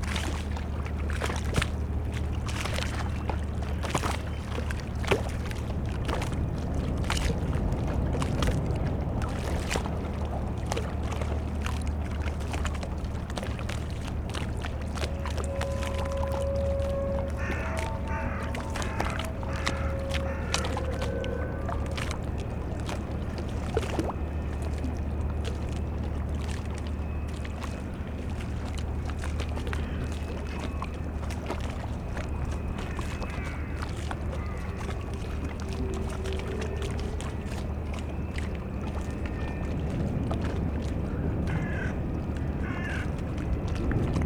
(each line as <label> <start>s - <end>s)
lapping waves 0.0s - 44.2s
towboat moves empty coal barges away 0.0s - 44.2s
squeaking drone of the ferris wheel 14.7s - 41.4s
crows 17.2s - 21.5s
crows 33.2s - 34.8s
crows 41.5s - 42.0s
crows 42.6s - 43.1s